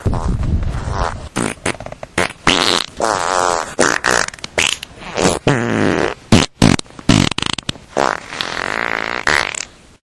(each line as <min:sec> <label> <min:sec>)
0:00.0 many farts 0:09.7